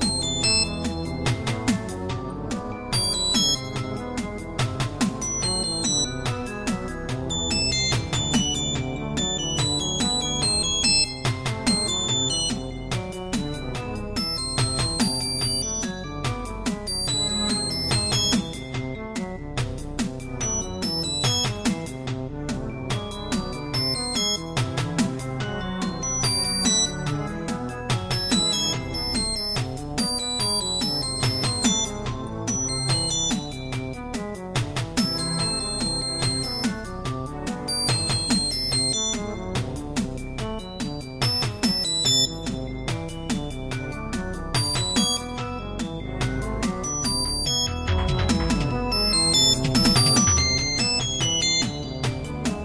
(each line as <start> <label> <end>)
0.0 beat 52.6